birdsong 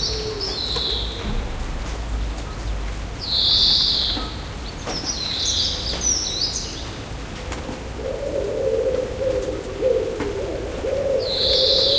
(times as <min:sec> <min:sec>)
0:09.4 0:11.9